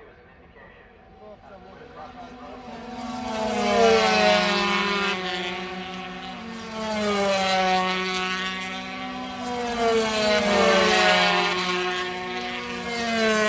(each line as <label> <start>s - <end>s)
commentary 0.0s - 6.8s